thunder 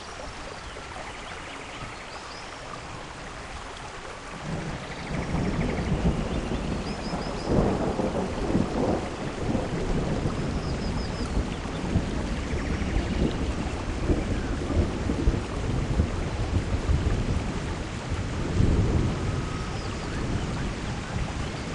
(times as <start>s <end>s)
4.4s 21.7s